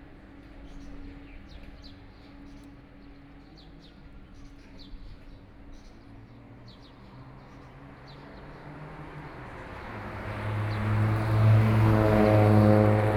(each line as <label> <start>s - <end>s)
Traffic Sound 9.4s - 13.1s